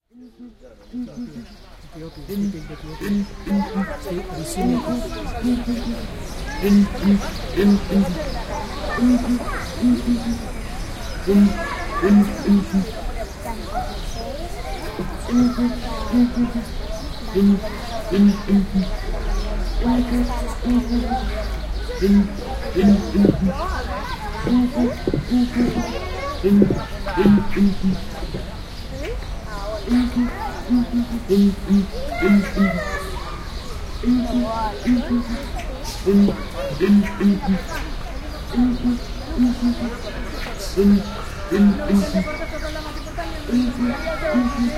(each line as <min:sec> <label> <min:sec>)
0:00.1 Song of two males of Southern Ground Hornbill 0:13.2
0:14.8 Song of two males of Southern Ground Hornbill 0:29.1
0:29.8 Song of two males of Southern Ground Hornbill 0:44.7